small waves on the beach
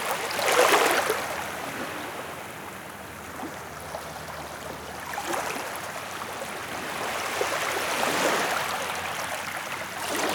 5.2s 10.3s

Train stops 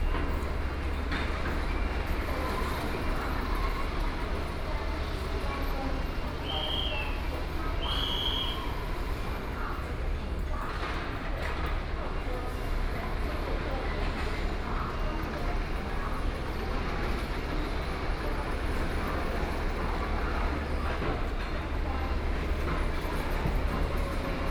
0.0s 9.8s

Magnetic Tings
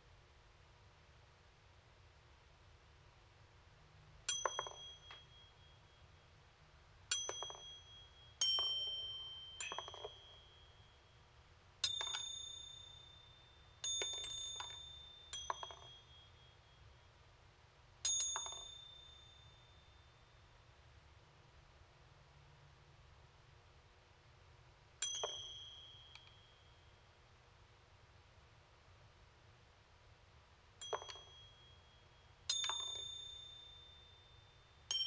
11.8s 16.8s, 25.0s 27.0s, 30.8s 35.0s

